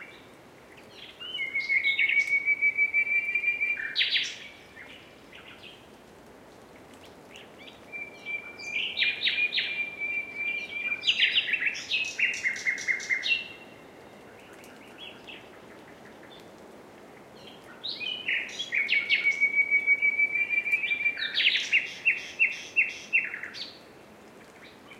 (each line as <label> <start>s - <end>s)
Nightingales 6.8s - 16.6s
Nightingales 17.2s - 24.9s